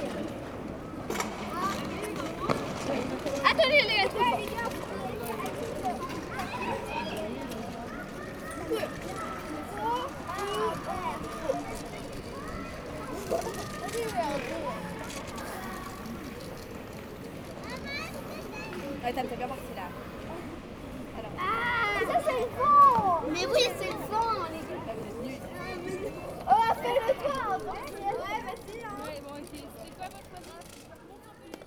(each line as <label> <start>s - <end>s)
young scouts are playing 0.0s - 31.6s